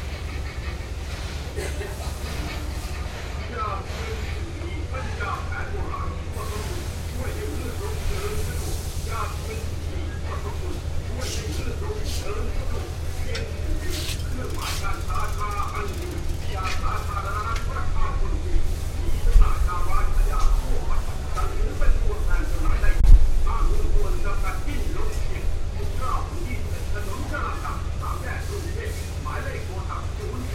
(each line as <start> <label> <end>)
0.0 radio 30.5